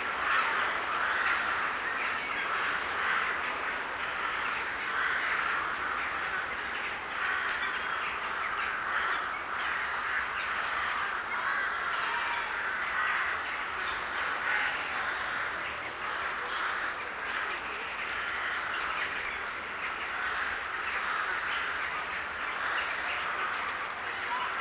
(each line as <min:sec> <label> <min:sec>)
0:00.0 birds 0:24.6